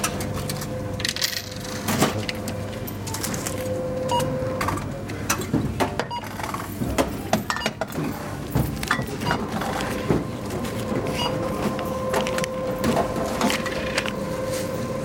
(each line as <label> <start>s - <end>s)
supermarket checkout sounds 0.0s - 15.0s